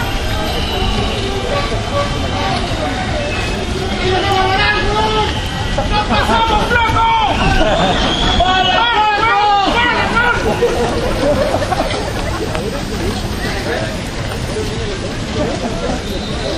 shouting 0:00.0 - 0:11.9
Cyclists Protest 0:00.0 - 0:16.5

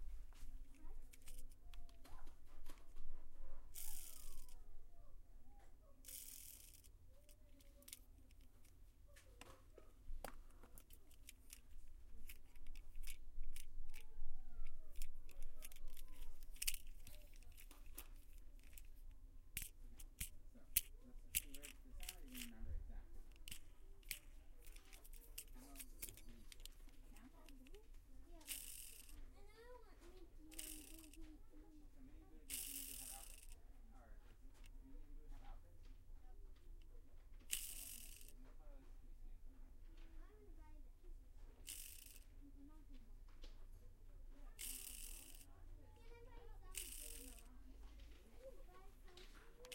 spinning racecar wheels 0:03.7 - 0:04.6
spinning racecar wheels 0:06.0 - 0:06.9
spinning racecar wheels 0:28.4 - 0:29.2
spinning racecar wheels 0:30.4 - 0:31.3
spinning racecar wheels 0:32.4 - 0:33.6
spinning racecar wheels 0:37.5 - 0:38.3
spinning racecar wheels 0:41.6 - 0:42.2
spinning racecar wheels 0:44.6 - 0:45.5
spinning racecar wheels 0:46.1 - 0:48.2

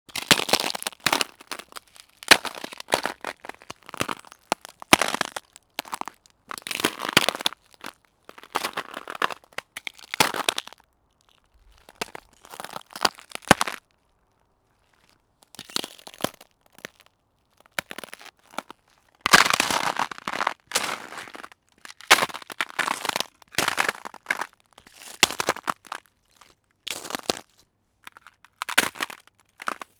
ice cracking 0:00.1 - 0:10.8
Steps on ice 0:00.1 - 0:13.9
ice cracking 0:11.8 - 0:13.8
Steps on ice 0:14.8 - 0:17.1
Steps on ice 0:17.7 - 0:29.9

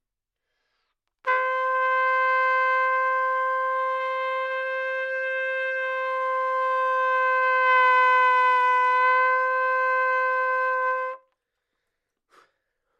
trumpet 0:01.2 - 0:11.4

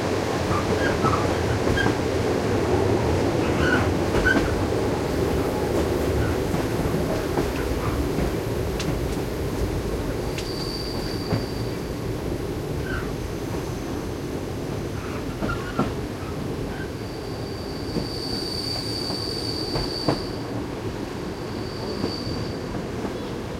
train journey 0:00.0 - 0:23.5

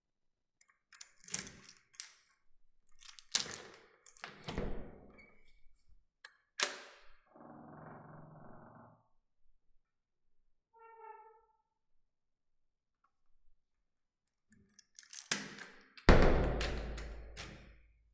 lock 0:00.9 - 0:02.3
lock 0:02.9 - 0:04.7
Attic door opening and closing 0:03.1 - 0:05.4
lock 0:06.6 - 0:07.0
lock 0:14.5 - 0:17.8
Attic door opening and closing 0:15.0 - 0:17.8

